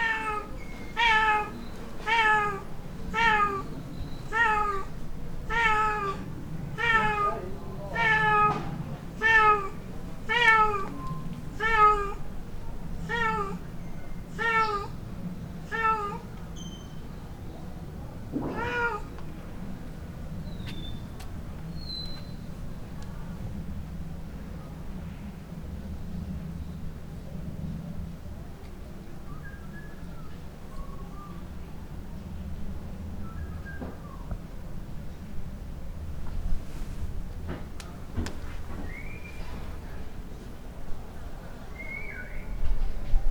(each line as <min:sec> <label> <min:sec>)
0:00.0 impatient cat waiting to be let inside 0:20.3
0:16.6 whistling man working nearby 0:17.1
0:29.3 whistling man working nearby 0:31.4
0:33.2 whistling man working nearby 0:34.4
0:38.7 whistling man working nearby 0:39.6
0:41.7 whistling man working nearby 0:42.5